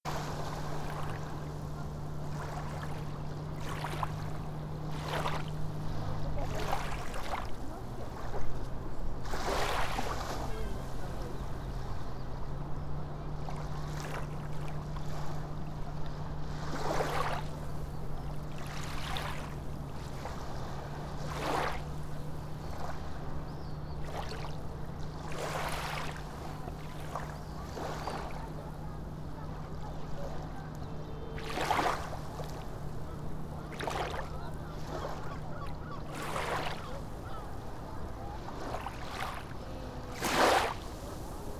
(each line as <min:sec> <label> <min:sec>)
0:00.0 waves 0:41.5
0:26.3 people 0:41.5